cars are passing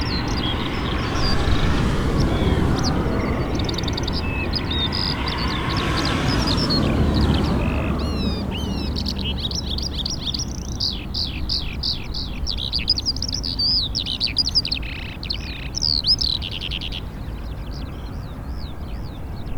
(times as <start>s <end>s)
0.0s 11.3s